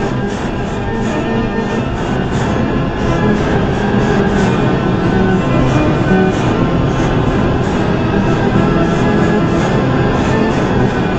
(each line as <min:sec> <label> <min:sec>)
0:00.0 music 0:11.1